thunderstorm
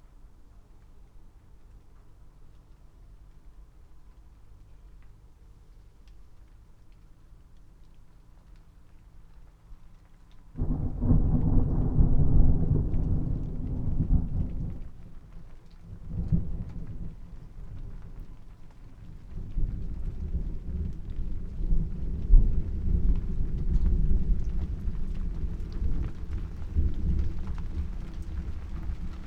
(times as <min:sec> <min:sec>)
0:10.6 0:29.2